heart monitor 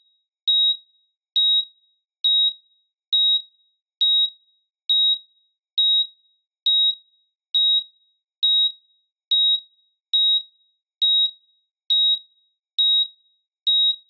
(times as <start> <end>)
11.0 13.1